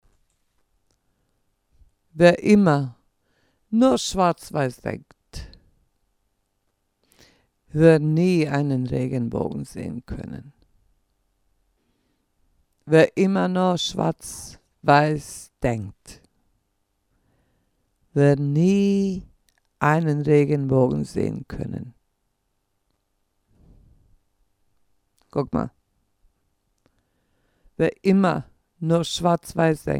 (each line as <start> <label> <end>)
2.2 voice 3.0
3.8 voice 5.6
7.7 voice 10.6
12.9 voice 16.3
18.2 voice 22.0
25.2 voice 25.7
27.8 voice 29.9